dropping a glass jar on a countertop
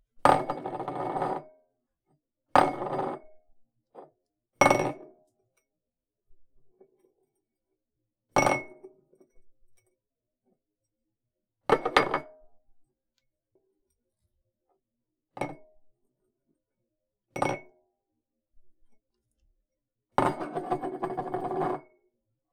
0:00.2 0:01.5, 0:04.6 0:05.2, 0:08.4 0:09.8, 0:11.7 0:12.4, 0:15.4 0:15.7, 0:17.3 0:17.7, 0:20.2 0:21.9

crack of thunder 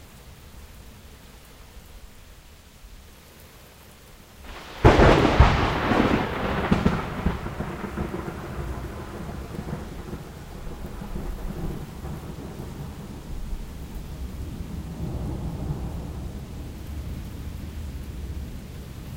0:04.5 0:13.5

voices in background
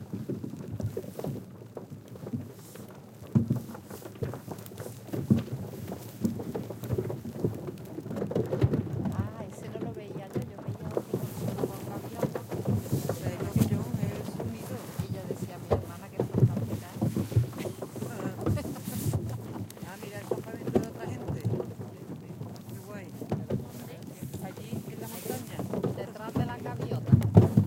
0:09.1 0:27.2

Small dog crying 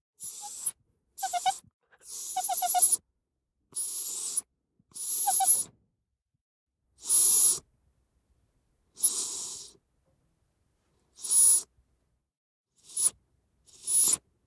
0:00.2 0:03.0, 0:05.0 0:05.7

